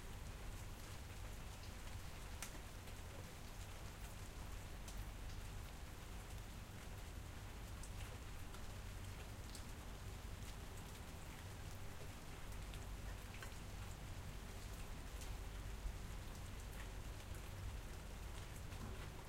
Light rain 0:00.0 - 0:19.2

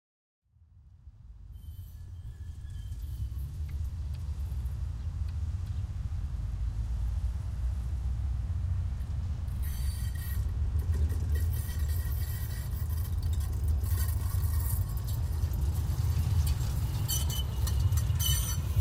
tram on the turn 0:00.9 - 0:18.8
Brakes squeals 0:01.4 - 0:06.5
Brakes squeals 0:09.0 - 0:18.8

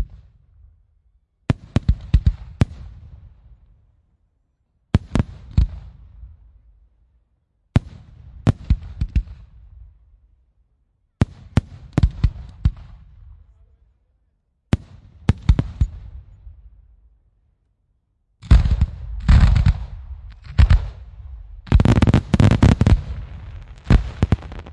rockets 0:18.4 - 0:24.7

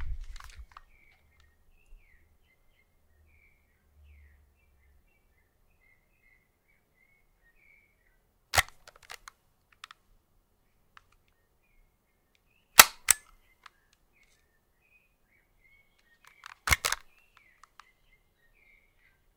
cassette recorder being handled 0:00.0 - 0:01.2
cassette recorder being handled 0:08.6 - 0:10.0
cassette recorder being handled 0:16.2 - 0:17.9

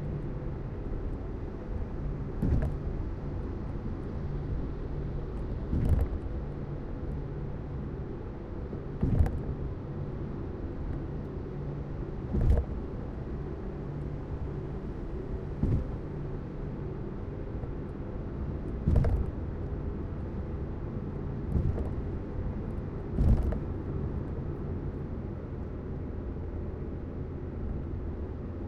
car 0:00.0 - 0:28.6
thumps at beginning are seams of concrete segments 0:15.6 - 0:16.0
thumps at beginning are seams of concrete segments 0:18.9 - 0:19.3

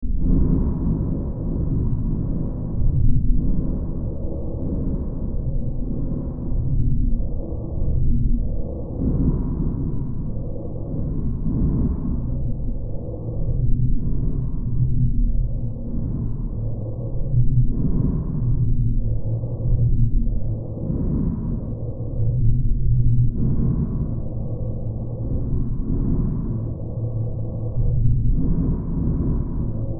Drone 0:00.0 - 0:29.9

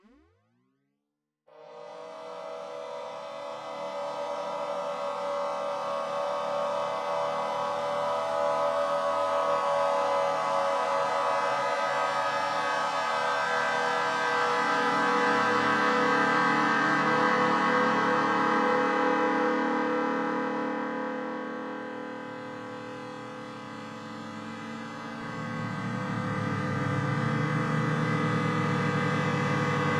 drone 0:01.5 - 0:29.9

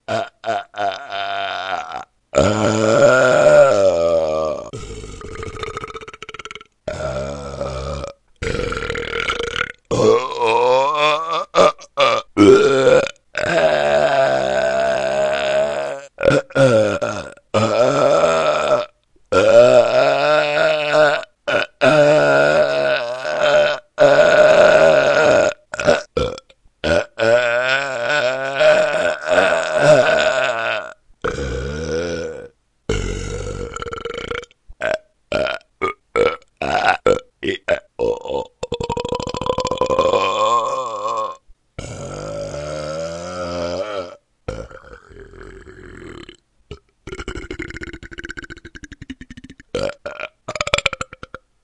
Adult male burbs 0:00.0 - 0:51.4

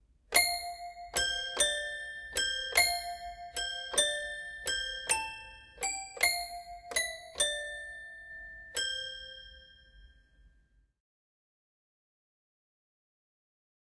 toy piano 0:00.3 - 0:10.2

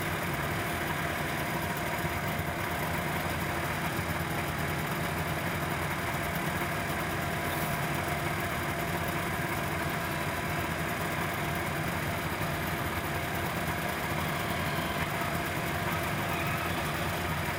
snowmobile idle 0:00.0 - 0:17.5

